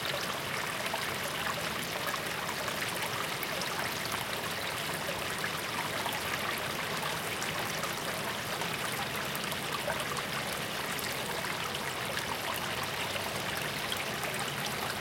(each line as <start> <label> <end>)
0.0 river 15.0